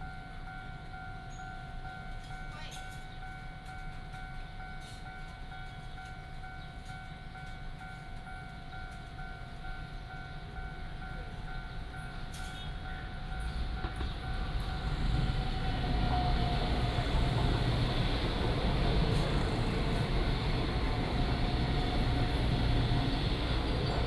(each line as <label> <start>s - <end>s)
Train traveling through 0.0s - 24.0s
Traffic sound 13.6s - 24.0s